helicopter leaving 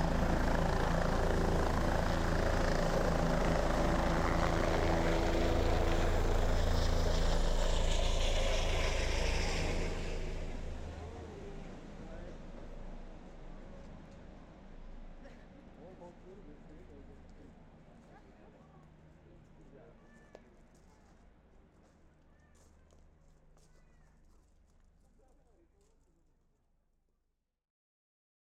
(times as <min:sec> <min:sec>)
0:00.0 0:19.8